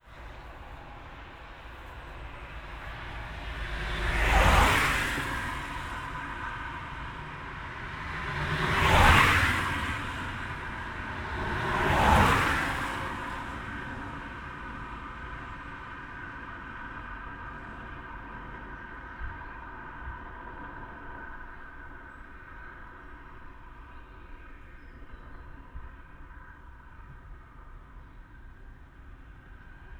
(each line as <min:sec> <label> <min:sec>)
0:00.0 Traffic 0:29.9
0:22.0 birds in the trees 0:28.4